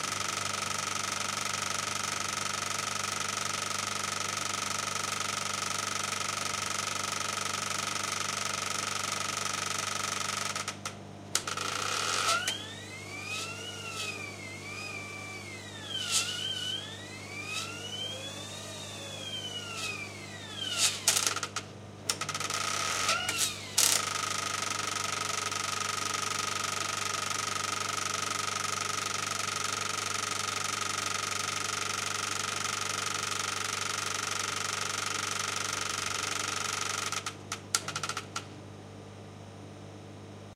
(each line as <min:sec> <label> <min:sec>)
0:00.0 high speed 35 mm. cinema projector, running 0:40.5